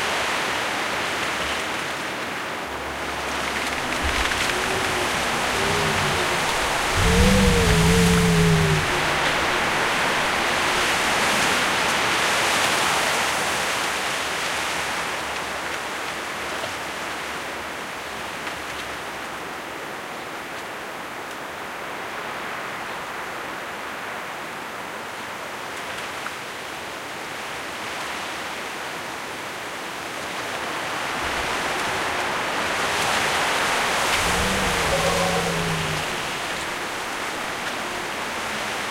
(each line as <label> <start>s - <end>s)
wind 0.0s - 38.9s
Foghorn 3.8s - 11.6s